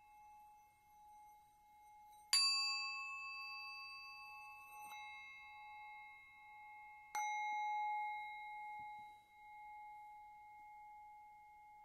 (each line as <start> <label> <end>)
0.0 Tibetan Singing Bowls 11.8